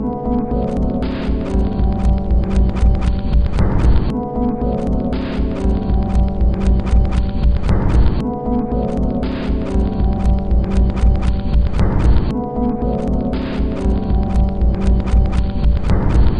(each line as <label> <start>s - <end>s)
Drum Loop 0.8s - 4.2s
Drum Loop 5.1s - 8.4s
Drum Loop 9.0s - 12.3s
Drum Loop 13.4s - 16.3s